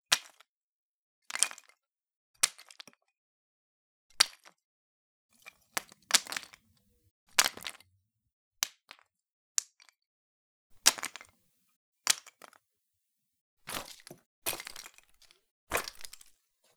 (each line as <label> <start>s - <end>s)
Wood chips falling 13.7s - 14.9s